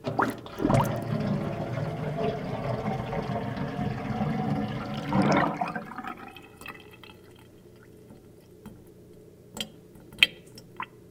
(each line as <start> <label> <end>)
0.0 Water going down a sink drain 9.0